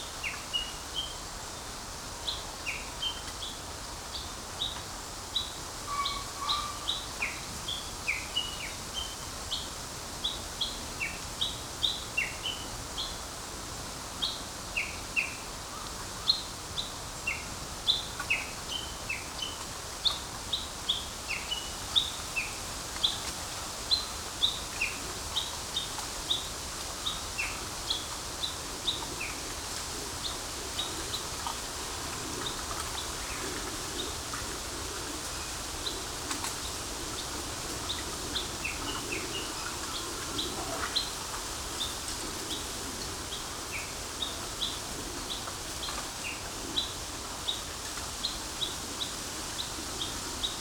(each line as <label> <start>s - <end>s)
Japanese bush warbler 0.0s - 13.3s
pheasant 5.8s - 7.5s
Japanese bush warbler 14.2s - 34.7s
Japanese bush warbler 35.3s - 50.6s